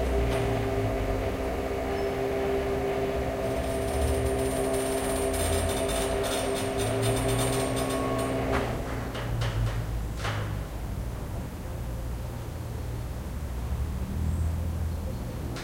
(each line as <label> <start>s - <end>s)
windows and sunshades are connected to electric motors by chains 0.0s - 10.9s